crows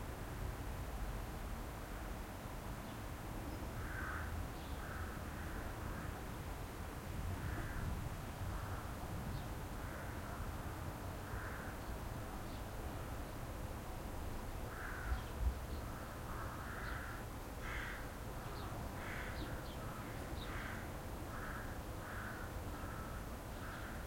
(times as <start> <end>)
3.8 6.2, 7.4 7.9, 8.5 9.0, 9.8 10.5, 11.2 11.8, 14.7 24.0